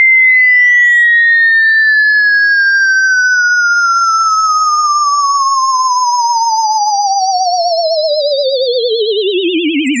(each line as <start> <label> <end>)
7.6 tone 10.0